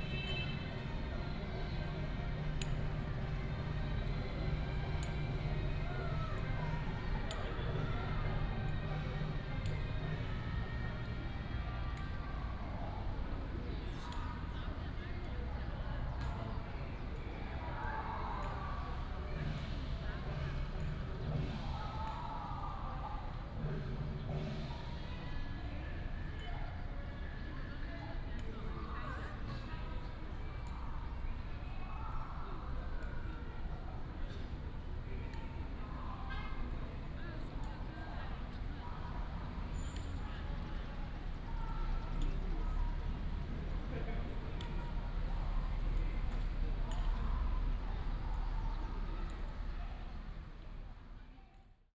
Traffic sound 0:00.0 - 0:51.7

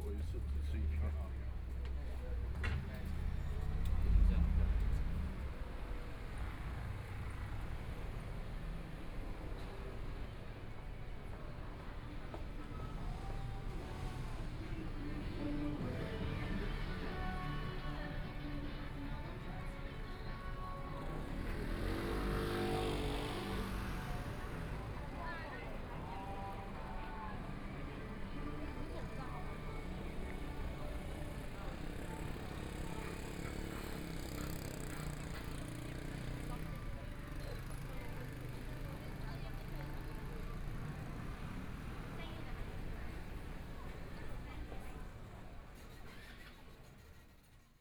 Traffic Sound 0:00.0 - 0:47.3
Walking across the different streets 0:00.0 - 0:47.6

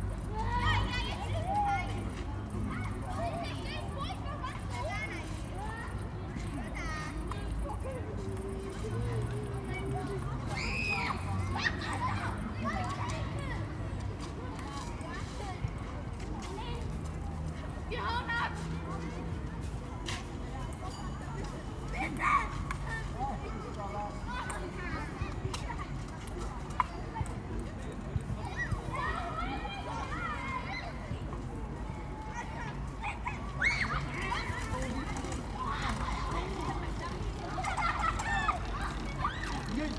mums chatting 0:17.1 - 0:39.9
scoters 0:33.6 - 0:39.9

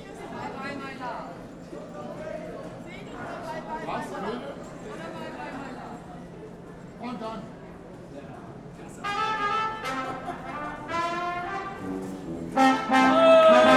musicians at the opposite platform 0:08.9 - 0:13.7
trombone 0:09.0 - 0:13.7
people enjoy it 0:11.7 - 0:13.7

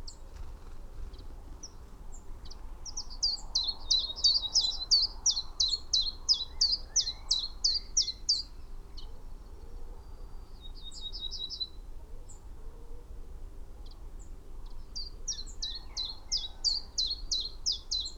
pheasant 0:00.0 - 0:13.1

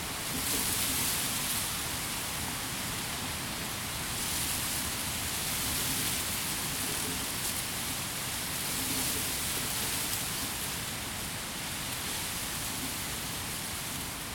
Wind gusts through tall dry grass 0:00.0 - 0:14.3

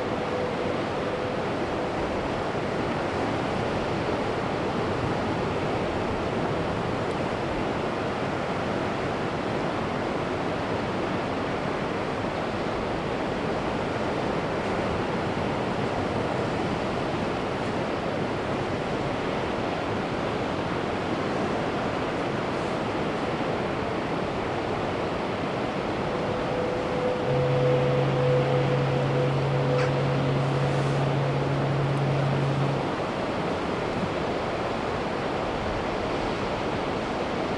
Ship to shore acoustic signals 0:00.0 - 0:05.6
Ship to shore acoustic signals 0:22.9 - 0:35.8

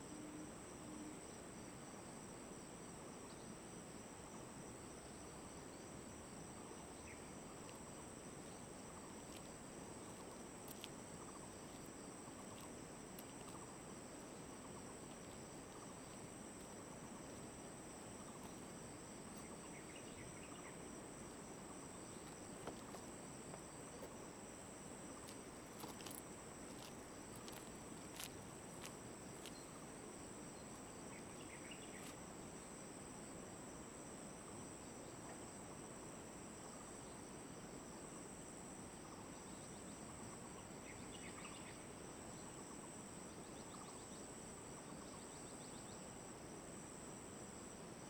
stream 0:05.4 - 0:36.6

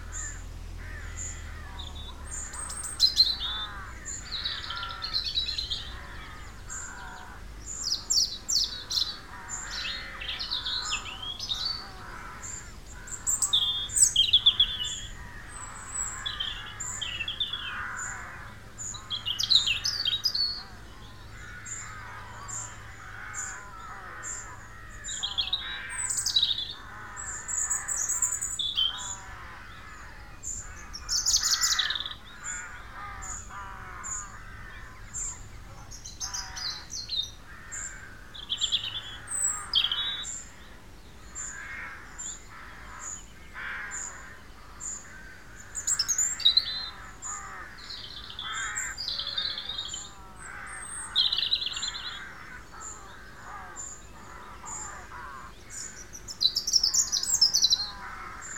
MORNING BIRDS 0:00.0 - 0:58.5

